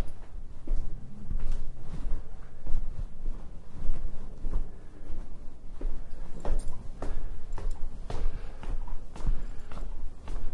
0.0s climb the stairs 10.5s
4.5s breath 10.5s

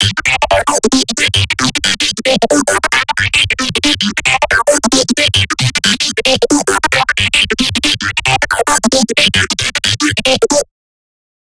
0.0s Phaser Acid (ARP) 10.6s
0.0s Bass 10.7s

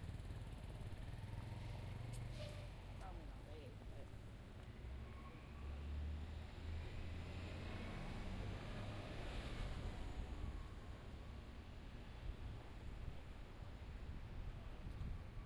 7.9s wind in the background 15.4s

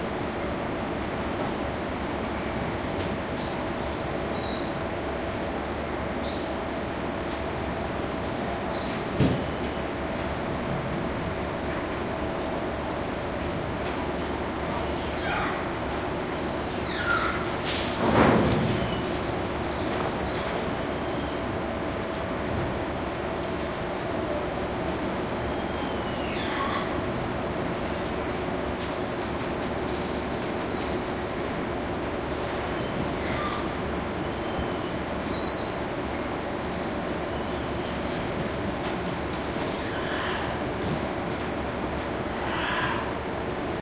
2.0s Squirrel monkeys calling and moving around 7.7s
8.4s Squirrel monkeys calling and moving around 10.2s
14.0s Squirrel monkeys calling and moving around 41.6s
39.9s Spider monkey screaming in the background 40.6s
42.4s Spider monkey screaming in the background 43.2s

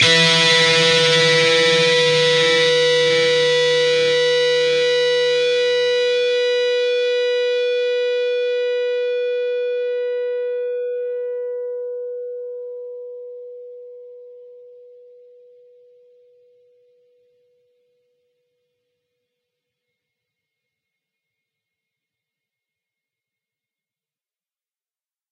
0.0s distorted guitar 10.6s

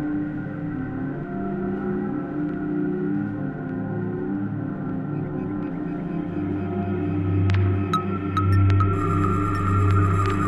7.4s glitchy rhythmic elements 10.4s

